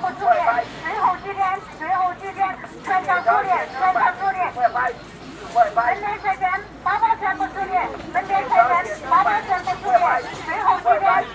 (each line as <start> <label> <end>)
0.0 Sound commercials on stalls 11.3